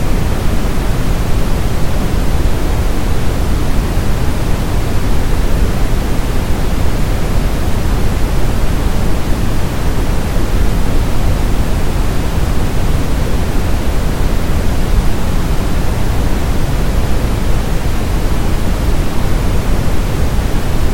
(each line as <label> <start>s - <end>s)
Waterfall 0.0s - 20.9s